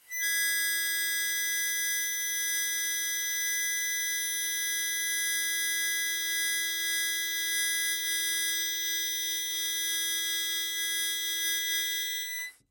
0.0s Harmonica 12.6s

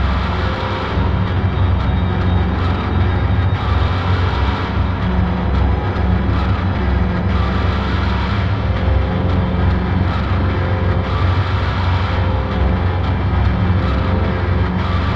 0.0s layers of creepy drones 15.1s

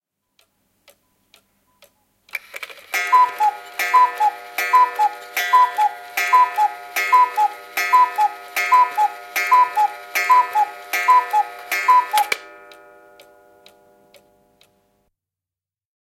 2.9s Cuckoo clock strikes 12 14.8s
3.0s cuckooing 12.4s

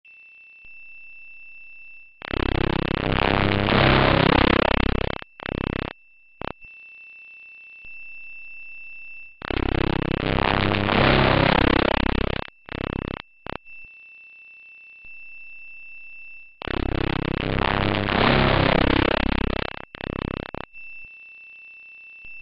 2.2s humming 6.7s
9.3s humming 13.9s
16.6s humming 20.8s

